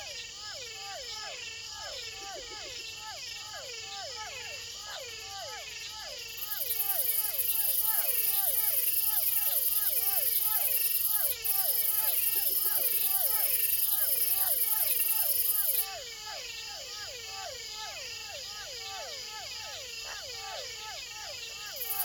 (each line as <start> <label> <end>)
0.0 crickets singing 22.0
0.0 frogs 22.0
0.0 toads 22.0